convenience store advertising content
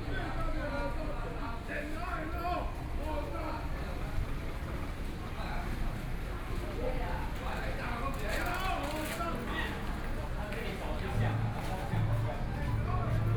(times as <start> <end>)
8.6 13.3